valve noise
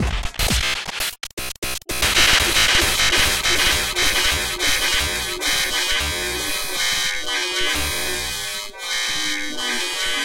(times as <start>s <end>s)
2.0s 10.1s